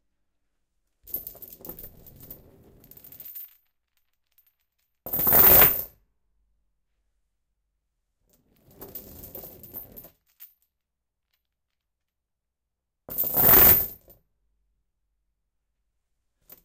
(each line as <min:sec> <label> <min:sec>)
0:01.0 loud, fast chain drops on a linoleum floor 0:05.9
0:08.7 loud, fast chain drops on a linoleum floor 0:10.7
0:13.1 loud, fast chain drops on a linoleum floor 0:14.2